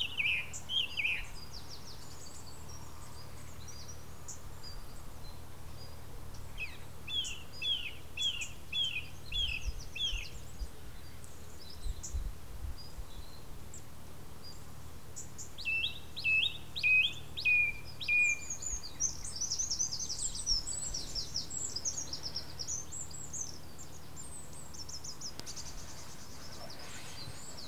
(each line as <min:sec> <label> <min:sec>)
0:00.0 plenty of birds 0:27.6